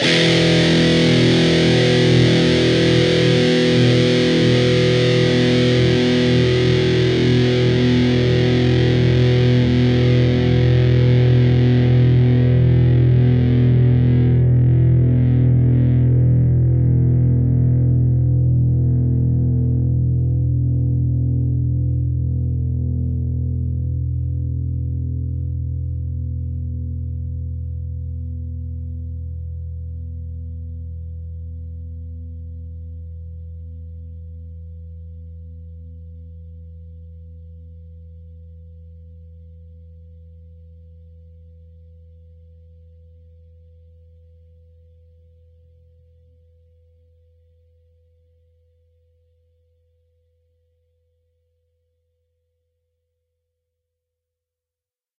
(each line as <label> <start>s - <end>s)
distorted guitar 0.0s - 43.0s